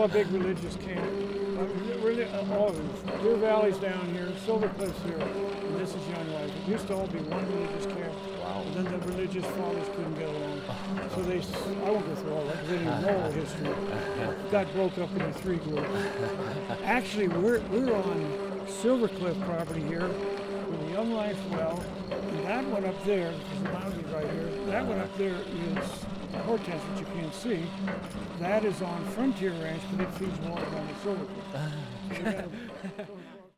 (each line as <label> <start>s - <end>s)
hot springs wellhead pump 0.0s - 33.5s